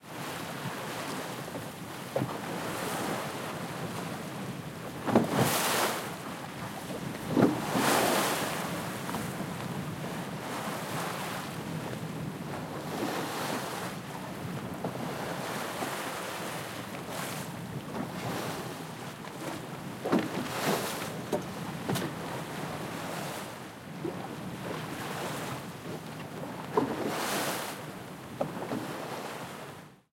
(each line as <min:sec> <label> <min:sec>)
0:00.0 Boat waves 0:29.8